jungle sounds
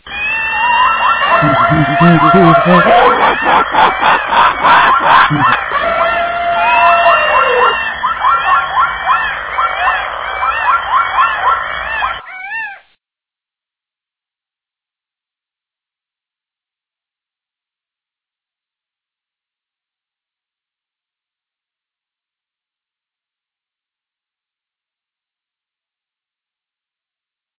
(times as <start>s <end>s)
0.0s 12.9s